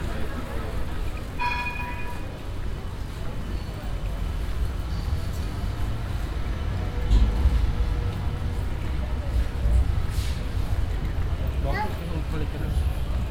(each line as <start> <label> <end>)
0.0 tourists shopping 13.3